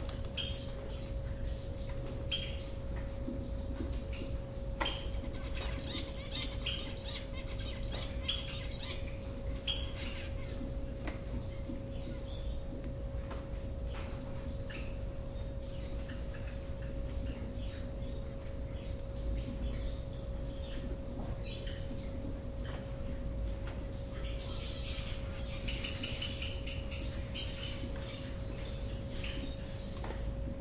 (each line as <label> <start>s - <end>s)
finches flying around in this glasshouse 0.0s - 30.6s
gardener working there 0.0s - 30.6s